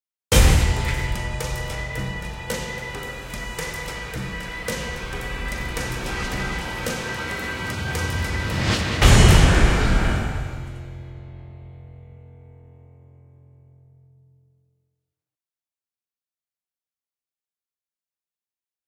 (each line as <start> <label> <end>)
0.3 trailer music 12.9